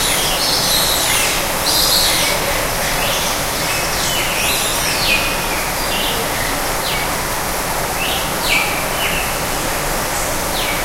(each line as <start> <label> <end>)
0.0 many birds calling 7.2
0.0 waterfall 10.8